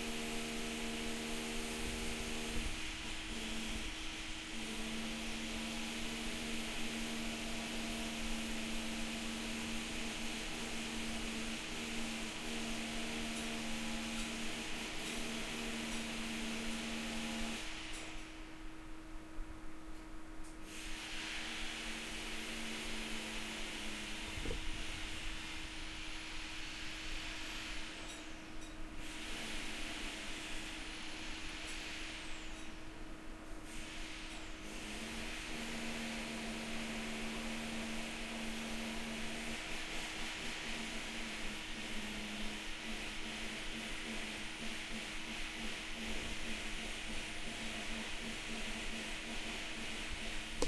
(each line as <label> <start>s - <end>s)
drill 0.0s - 17.8s
drill 33.9s - 50.6s